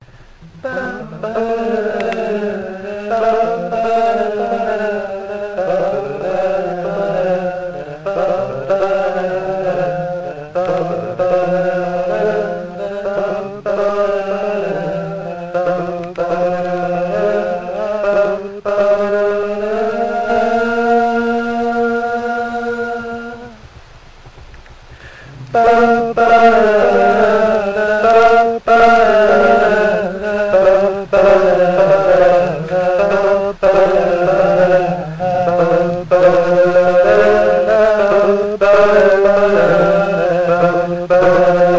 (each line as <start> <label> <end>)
0.0 Harmonies 41.7